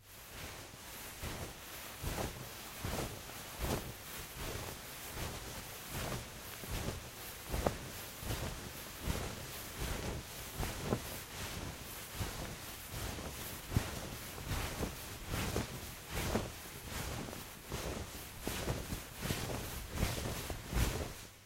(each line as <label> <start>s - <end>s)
footsteps 0.0s - 21.4s
heavy dress moving 0.0s - 21.4s